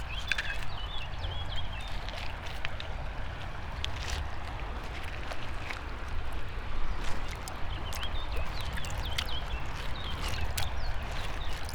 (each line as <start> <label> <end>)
0.0 river 11.7